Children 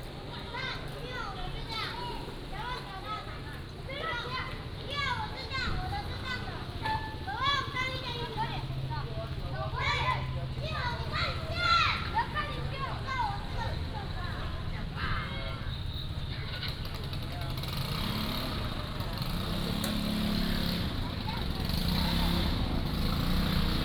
0:00.1 0:15.6

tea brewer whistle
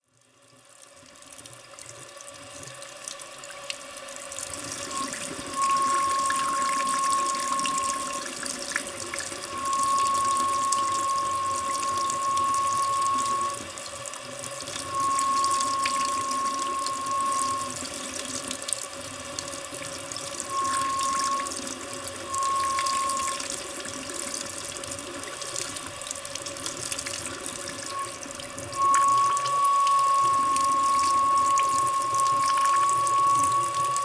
0:04.5 0:18.7, 0:19.9 0:24.7, 0:27.0 0:34.0

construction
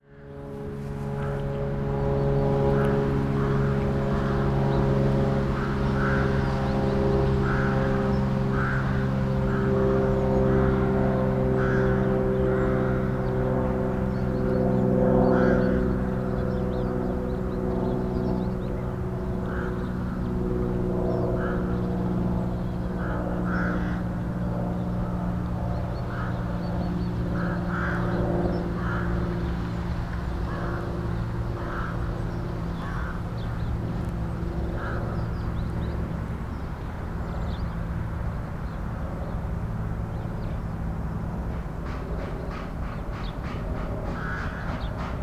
0:41.4 0:45.2

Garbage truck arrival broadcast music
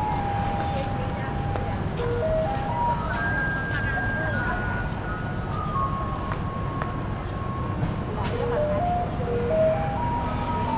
0:07.5 0:10.7

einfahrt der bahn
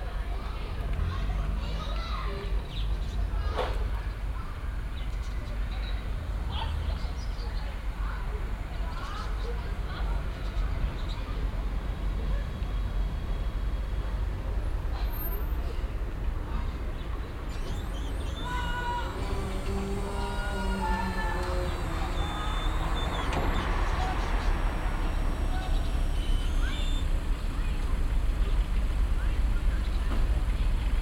0:15.8 0:31.0

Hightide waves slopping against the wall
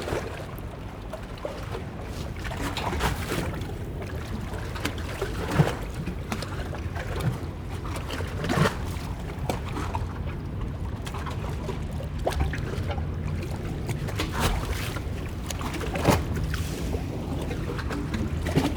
0:02.1 0:07.4, 0:13.4 0:18.7

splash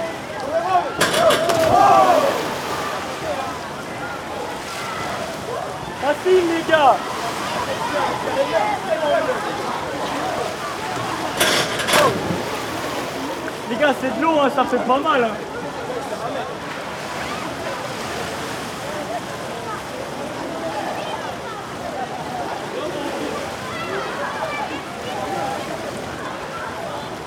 0:01.0 0:03.8, 0:10.0 0:13.7

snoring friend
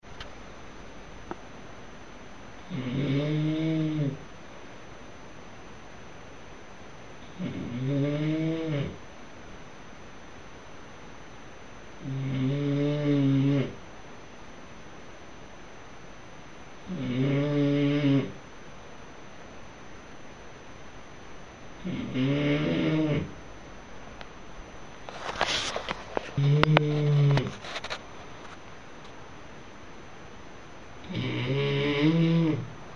0:02.6 0:04.2, 0:07.2 0:09.0, 0:12.0 0:13.8, 0:16.8 0:18.4, 0:21.8 0:23.4, 0:26.4 0:27.6, 0:31.0 0:32.7

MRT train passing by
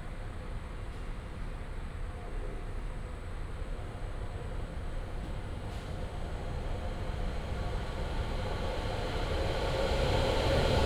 0:06.2 0:10.8

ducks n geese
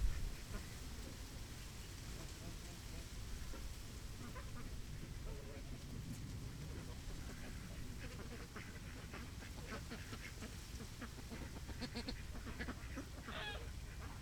0:03.4 0:04.8, 0:06.7 0:14.2

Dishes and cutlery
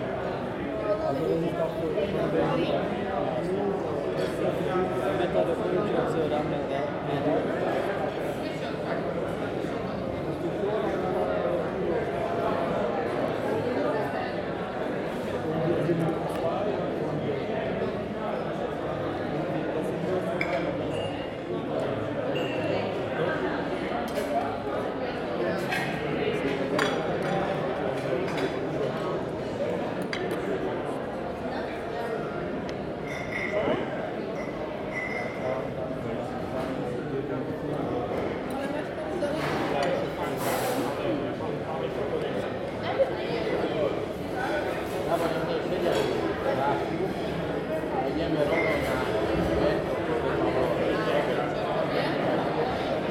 0:20.4 0:21.1, 0:25.6 0:26.0, 0:33.0 0:33.8, 0:34.4 0:35.4

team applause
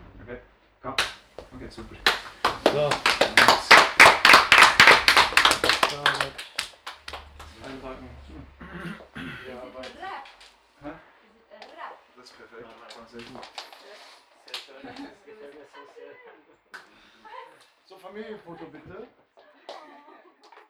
0:01.0 0:10.4

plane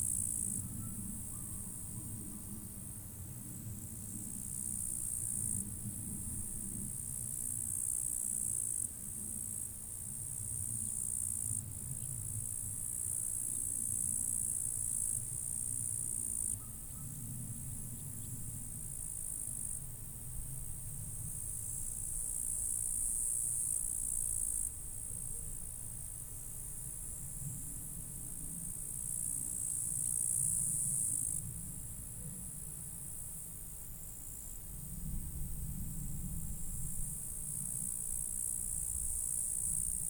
0:00.0 0:07.8, 0:16.0 0:19.2, 0:27.0 0:33.7, 0:34.5 0:39.2

